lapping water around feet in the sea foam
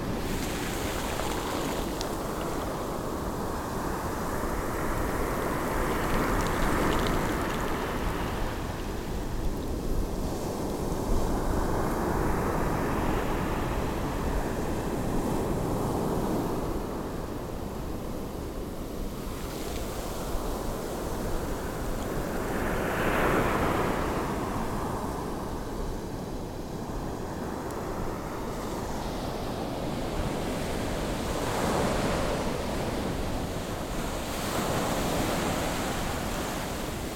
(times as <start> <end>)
0.2 3.1, 5.6 8.2